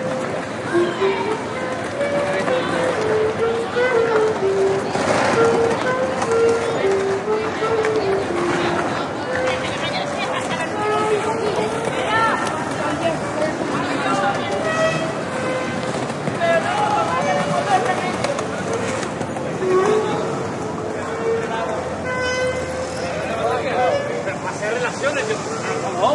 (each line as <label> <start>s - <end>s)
street musician playing saxophone 0.0s - 26.1s
voices talking 0.0s - 26.1s